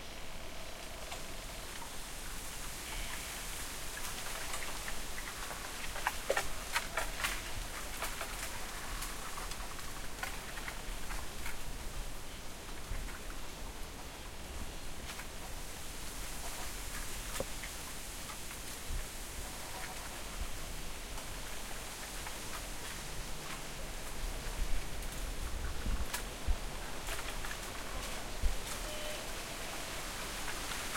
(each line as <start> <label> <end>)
0.0 wind 30.9
0.0 insects 30.9